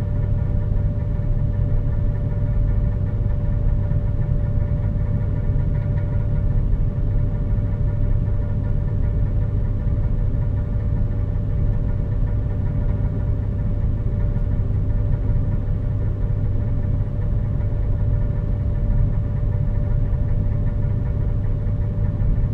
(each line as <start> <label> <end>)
0.0 Rumble on the air conditioning conduction 22.5